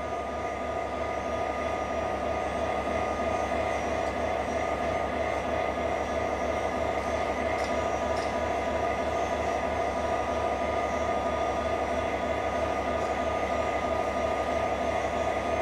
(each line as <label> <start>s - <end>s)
express train 0.0s - 15.6s